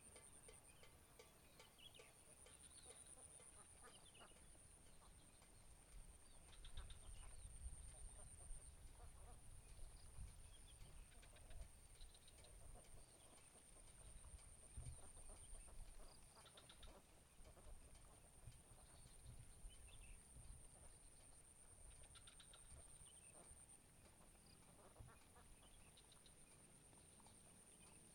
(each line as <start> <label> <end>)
0.0 cicadas 28.1
0.0 rattle used to chase away birds 28.1
1.6 Duck and bird chatter 28.1